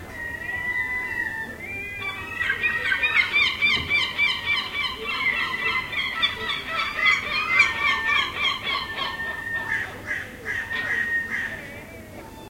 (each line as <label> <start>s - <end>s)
Seagulls 0.0s - 12.4s
Crow 2.1s - 11.6s